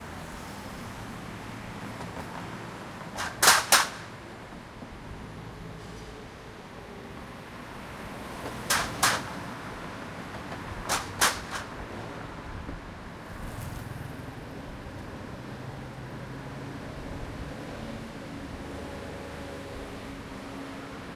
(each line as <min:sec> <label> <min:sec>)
0:01.6 cars going over metal plates on the road 0:05.0
0:08.2 cars going over metal plates on the road 0:15.1